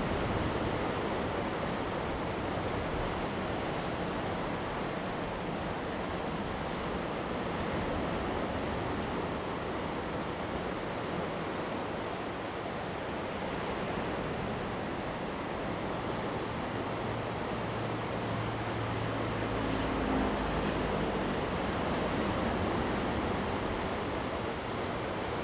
waves 0.0 - 25.4
Traffic Sound 17.0 - 24.0

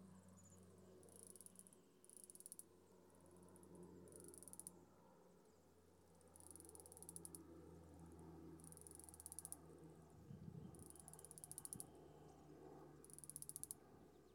clicking sounds by insects 1.0 - 2.8
clicking sounds by insects 3.6 - 4.8
clicking sounds by insects 6.1 - 7.5
clicking sounds by insects 8.6 - 9.6
clicking sounds by insects 10.7 - 12.4
clicking sounds by insects 13.0 - 13.8

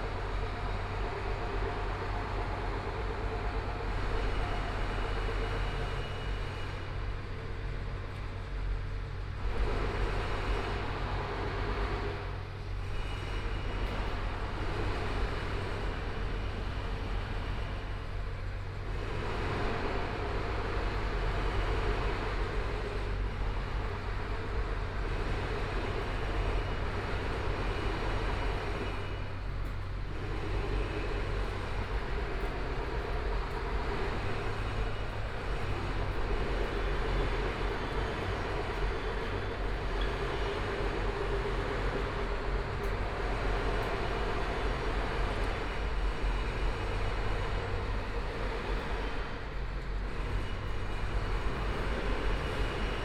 Construction site sounds 0.0 - 53.0
Pedestrian 0.0 - 53.0
Traffic Sound 12.7 - 53.0

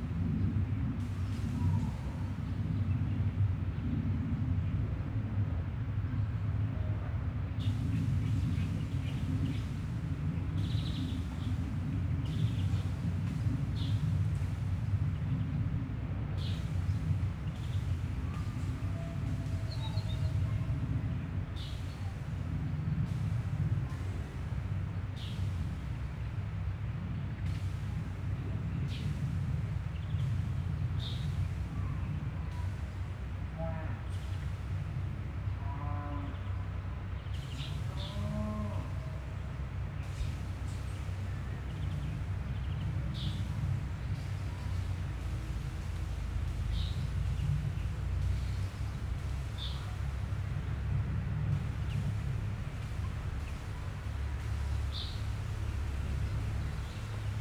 birds 23.4 - 33.3
birds 34.0 - 57.4

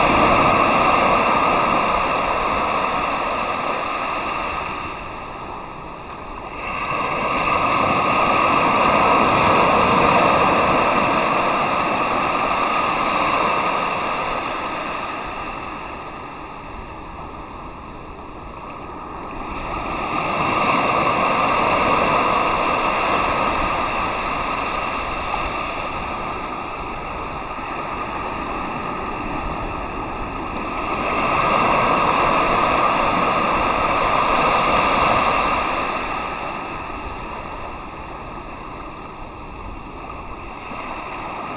listen to the sea into a shell 0.0 - 41.5

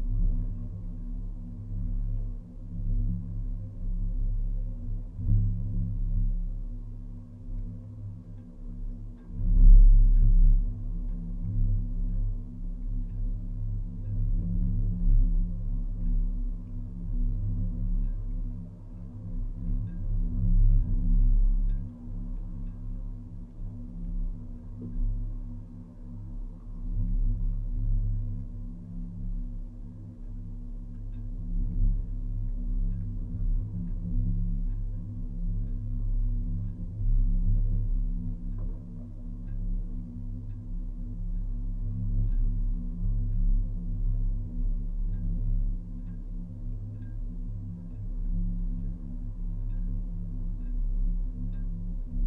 Wind and waves resonating inside the metal jetty support 0.0 - 52.2

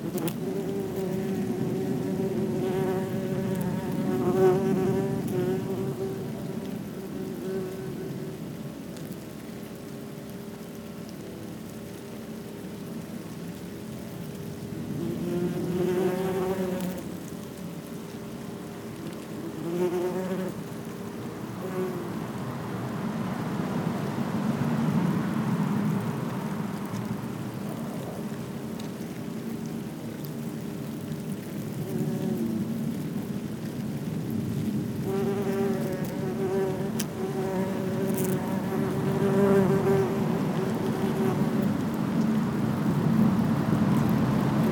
Wasps' nest 0.0 - 11.7
Wasps' nest 14.9 - 22.3
Wasps' nest 25.8 - 44.7

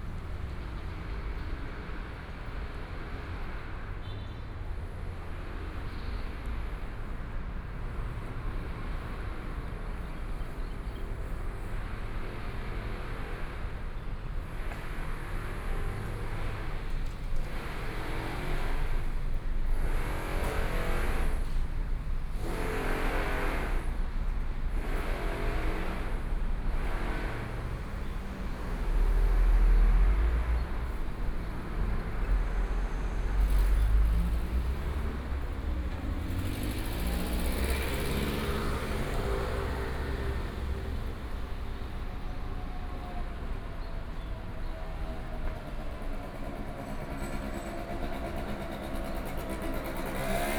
Traffic Sound 0.0 - 50.5

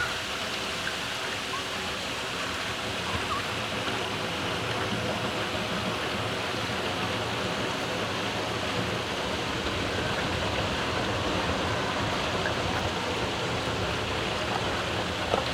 gurgling gush of water in a big, iron pipe 0.0 - 15.5

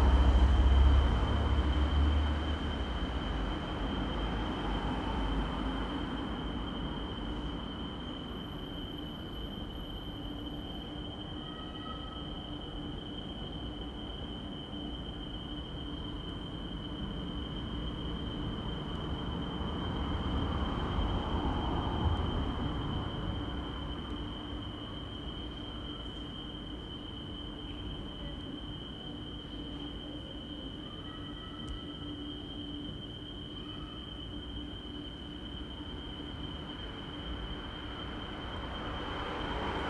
traffic behind speeds past 36.9 - 39.8

